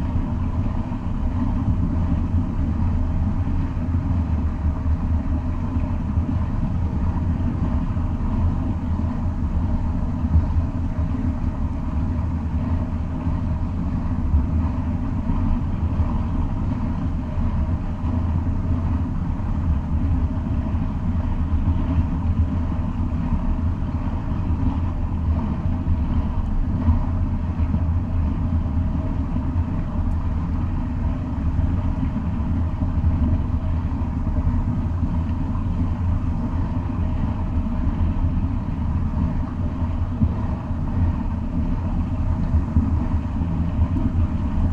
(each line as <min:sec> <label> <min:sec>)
0:00.0 water frowing out pf the dam 0:44.7